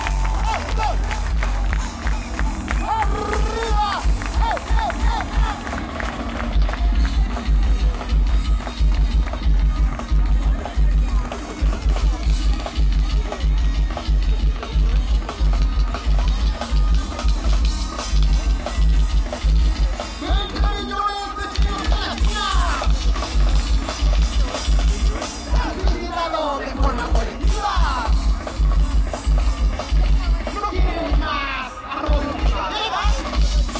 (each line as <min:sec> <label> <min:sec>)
0:00.0 crowd 0:33.7